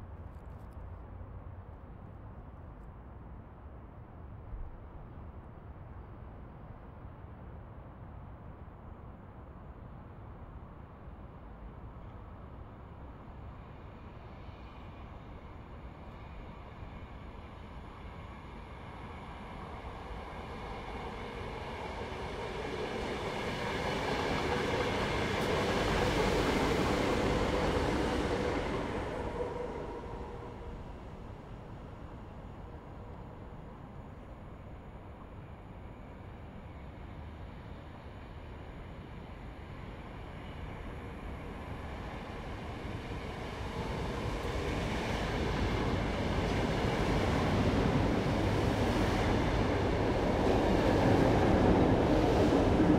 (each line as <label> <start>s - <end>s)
commuter train 0.0s - 52.9s